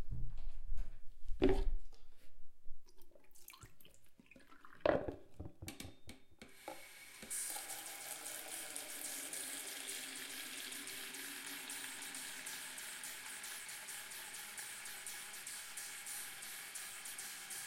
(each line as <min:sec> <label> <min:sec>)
0:06.4 sink running 0:17.6